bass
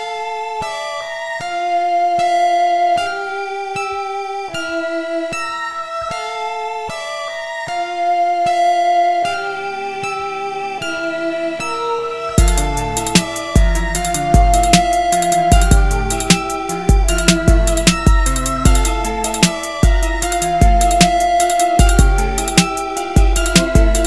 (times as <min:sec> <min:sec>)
0:12.4 0:24.0